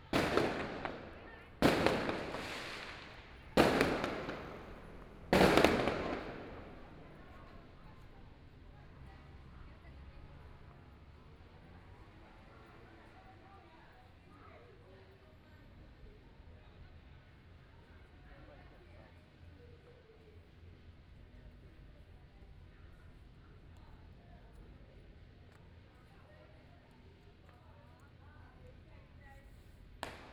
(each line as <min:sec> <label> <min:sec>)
0:00.0 Firework 0:08.6
0:29.8 Firework 0:30.3